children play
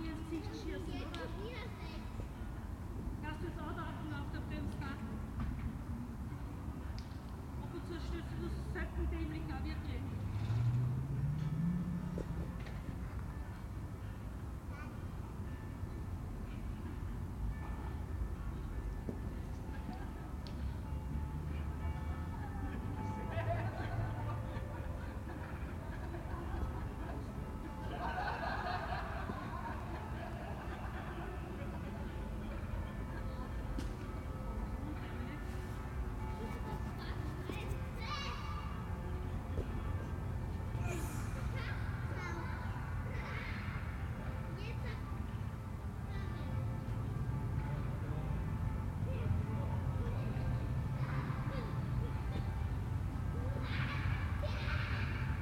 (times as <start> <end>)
33.0 40.1, 40.7 47.6, 49.0 55.4